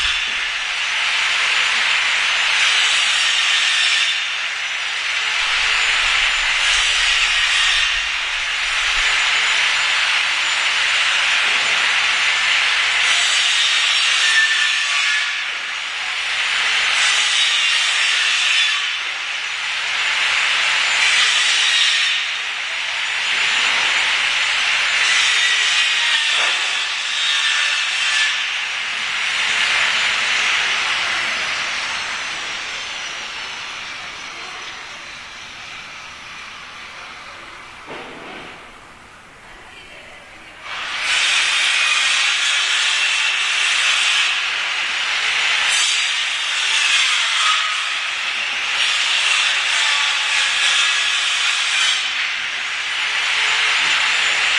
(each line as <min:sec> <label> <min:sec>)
0:25.0 cutting wood 0:35.4